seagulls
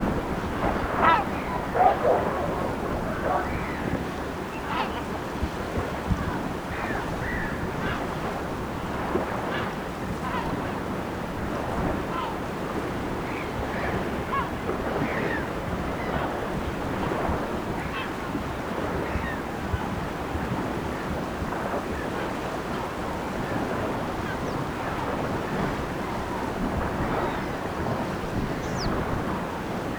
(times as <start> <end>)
0.6 5.4, 24.2 29.9